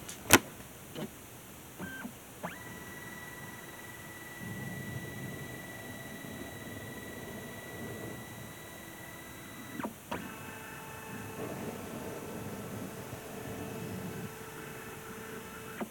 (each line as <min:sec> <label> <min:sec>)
0:00.0 Photocopier having its lid closed 0:01.1
0:01.8 it scans a sheet of paper 0:15.9